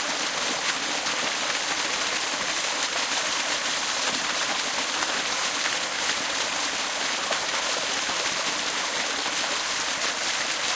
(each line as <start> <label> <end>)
0.0 waterfall 10.7